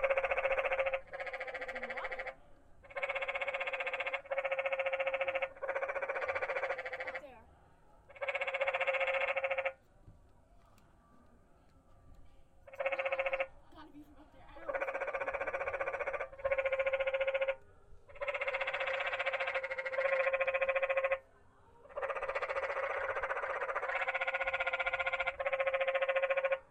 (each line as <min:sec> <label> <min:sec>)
0:00.0 frogs 0:07.4
0:08.1 frogs 0:09.8
0:12.6 frogs 0:13.6
0:14.5 frogs 0:26.7